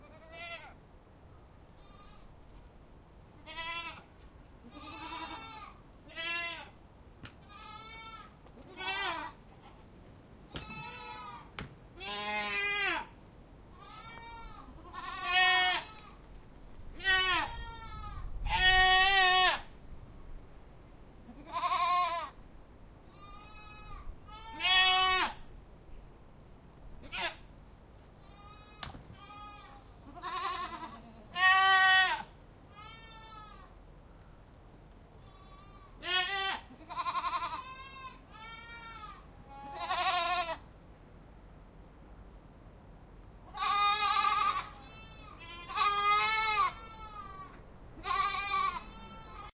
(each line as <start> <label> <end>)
3.4 goats 13.1
13.7 goats 19.6
27.0 goats 40.6
43.4 goats 49.5